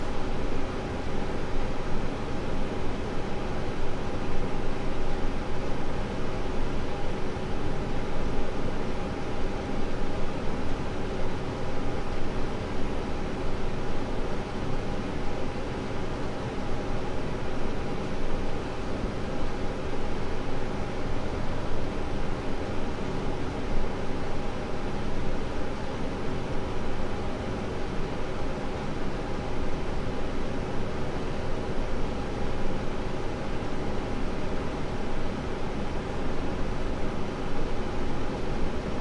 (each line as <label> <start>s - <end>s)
air conditioner 0.0s - 39.0s